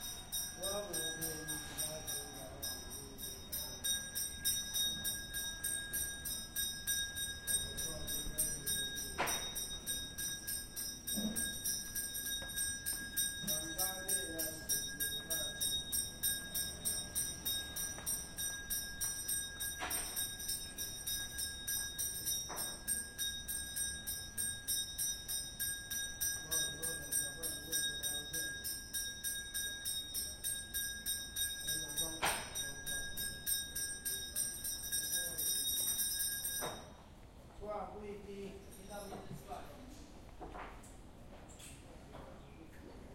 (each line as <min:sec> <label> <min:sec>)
0:00.0 temple bell 0:37.2
0:38.0 temple bell 0:39.8